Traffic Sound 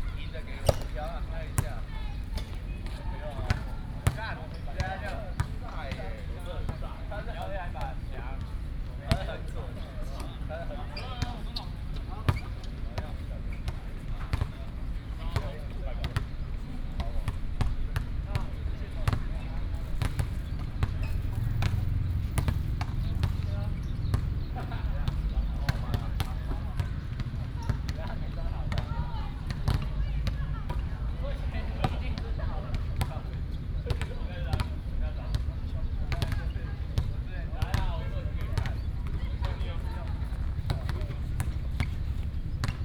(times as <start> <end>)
20.9 27.4